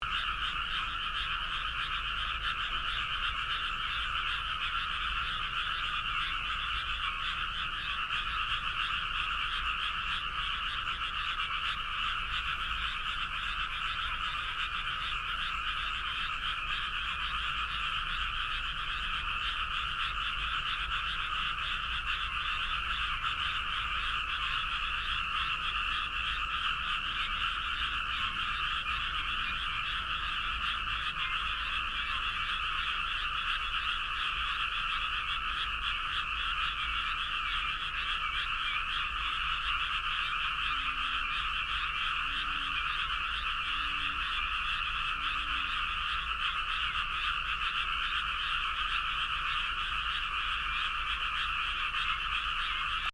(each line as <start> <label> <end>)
0.0 frog 53.1